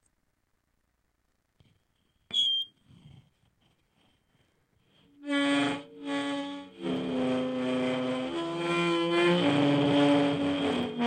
4.9s feedback loop involving a contact mic and surface transducer 11.0s

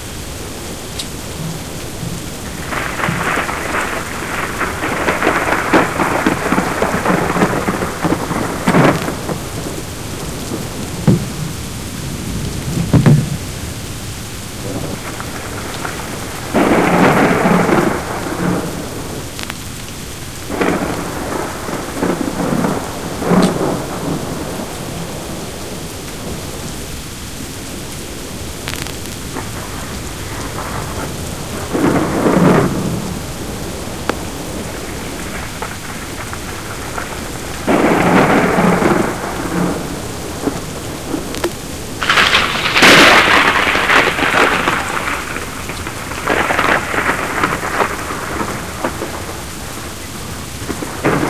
0.0s high winds 51.2s
0.0s loud rain 51.2s
0.0s thunderbolts 51.2s

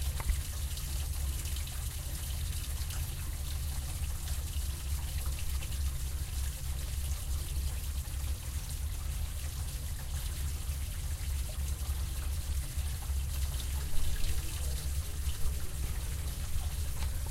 0.0s Trickling from within plumbing 17.3s

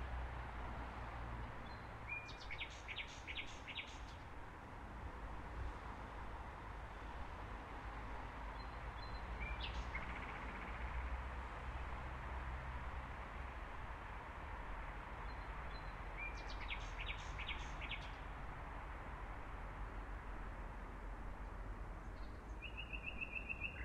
1.6s bird singing 4.2s
8.6s bird singing 10.8s
15.3s bird singing 18.2s
22.1s bird singing 23.8s

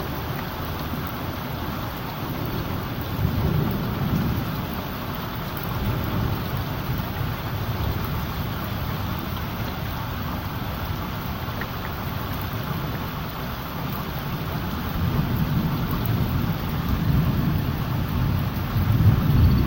0.0s rain 19.6s
15.0s thunder 19.6s

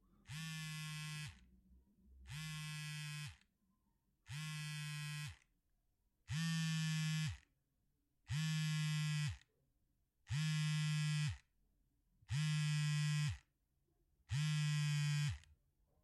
0.2s Cellphone vibrating while handheld 1.4s
2.2s Cellphone vibrating while handheld 3.4s
4.3s Cellphone vibrating while handheld 5.4s
6.3s Cellphone vibrating while handheld 7.4s
8.3s Cellphone vibrating while handheld 9.4s
10.3s Cellphone vibrating while handheld 11.5s
12.3s Cellphone vibrating while handheld 13.5s
14.3s Cellphone vibrating while handheld 15.5s

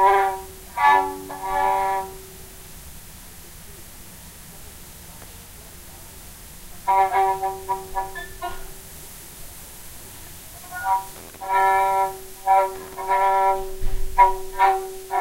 0.0s violin doodling 2.5s
6.7s violin doodling 9.1s
10.4s violin doodling 15.2s

